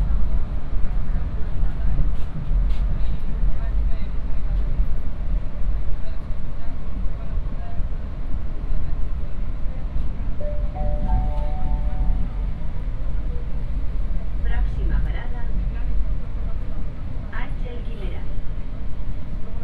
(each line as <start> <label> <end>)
10.4 Metro 13.9